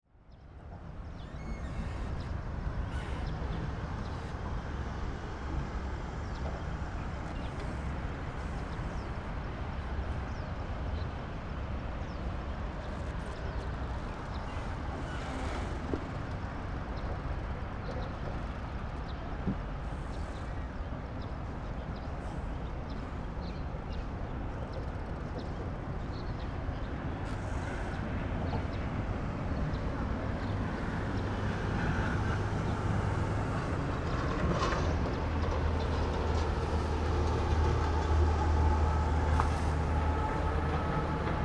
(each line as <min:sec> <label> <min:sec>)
0:01.8 traffic sound 0:41.4